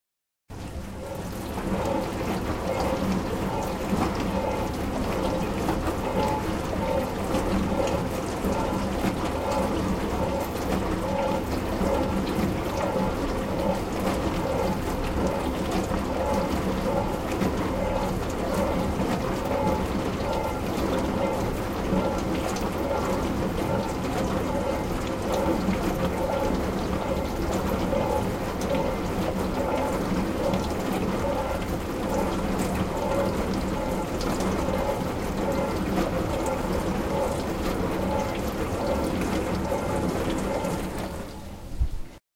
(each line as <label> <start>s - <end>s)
dishwasher machine 0.5s - 42.2s